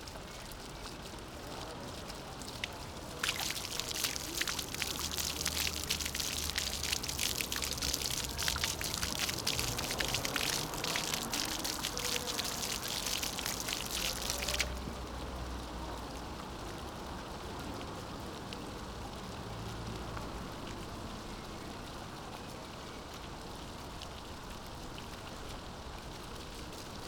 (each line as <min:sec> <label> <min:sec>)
0:00.0 Intermittent fountain 0:27.0